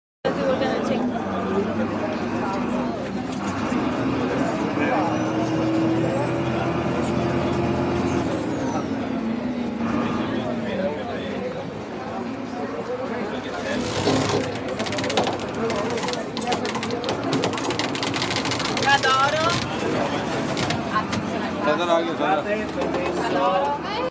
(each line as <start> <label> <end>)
13.6 rope tightening 21.2